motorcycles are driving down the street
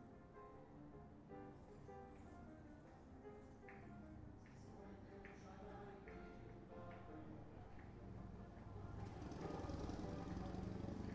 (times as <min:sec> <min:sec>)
0:07.8 0:11.1